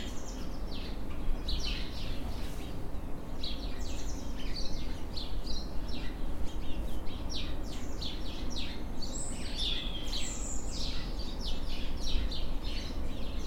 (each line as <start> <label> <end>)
0.0 Sparrows and tits singing 13.4